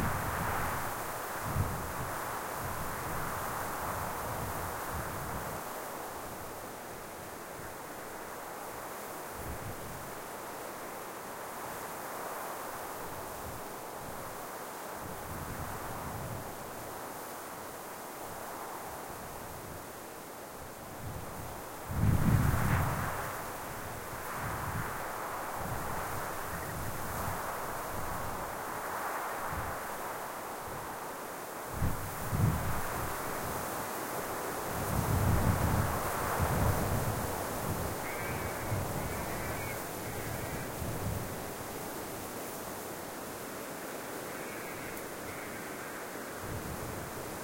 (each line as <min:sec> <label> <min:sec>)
0:00.0 Desert wind whispering through the spinifex 0:47.4
0:38.0 crow 0:40.8